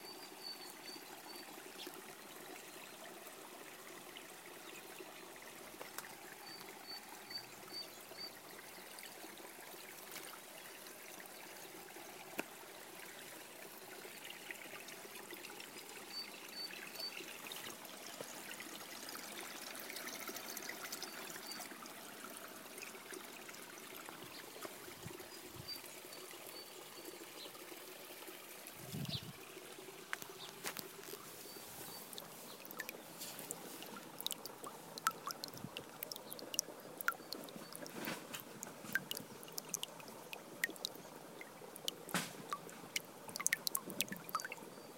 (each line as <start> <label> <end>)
0.0 water flowing 44.9